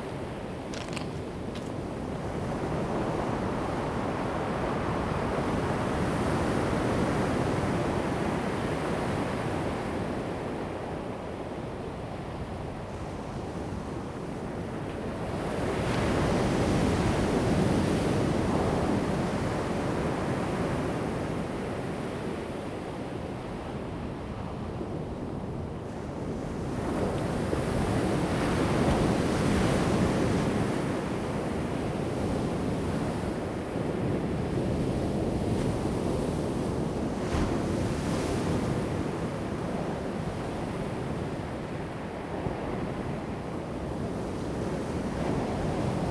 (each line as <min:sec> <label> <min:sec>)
0:26.0 waves 0:46.1